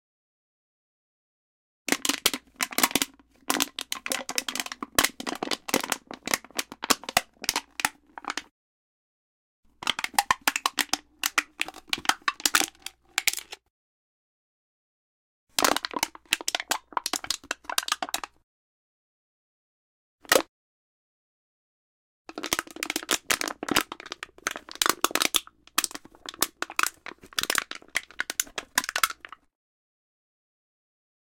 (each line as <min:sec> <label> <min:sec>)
0:01.9 tin can being crushed 0:08.5
0:09.8 tin can being crushed 0:13.6
0:15.6 tin can being crushed 0:18.3
0:22.3 tin can being crushed 0:29.4